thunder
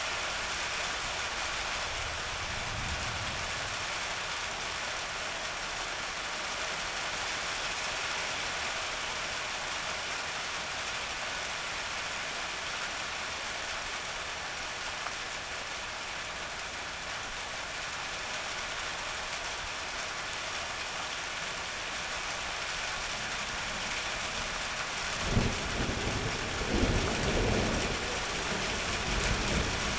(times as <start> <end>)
25.2 29.9